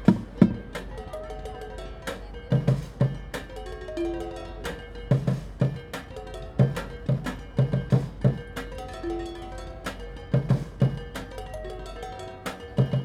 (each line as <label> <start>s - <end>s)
street drummer 0.0s - 13.0s